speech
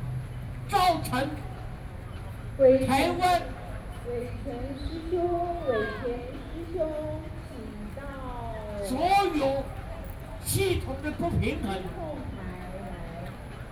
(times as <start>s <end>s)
5.6s 13.5s